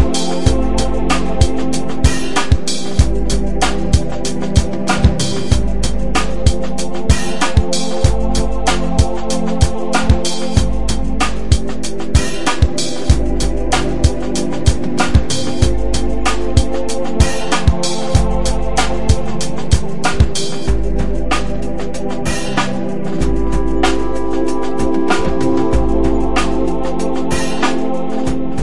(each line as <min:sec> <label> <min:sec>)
0:00.0 drum loop 0:28.6